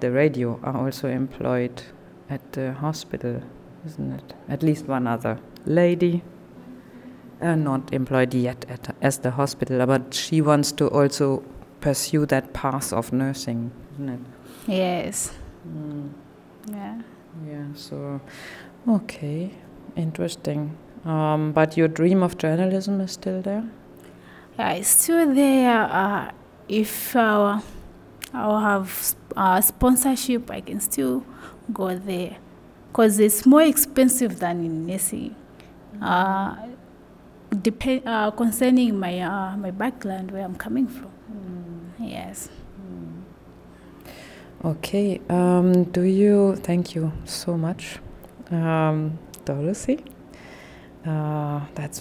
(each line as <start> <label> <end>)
0.0 white noise in the background 52.0
7.4 she tells us 23.8
24.6 she tells us 36.9
37.5 she tells us 43.3
44.6 she tells us 50.1
51.0 she tells us 52.0